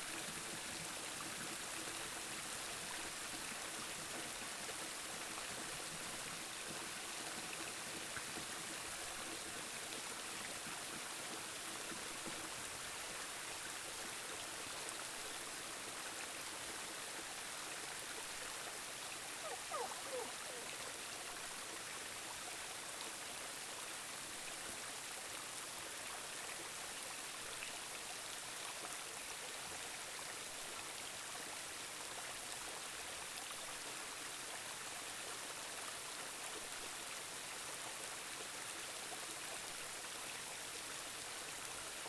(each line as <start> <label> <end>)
0.0 Waterfall 42.0
19.4 sheep dog 20.9